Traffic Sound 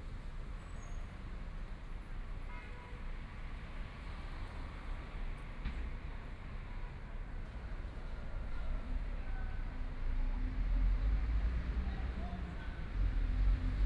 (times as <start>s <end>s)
10.4s 13.8s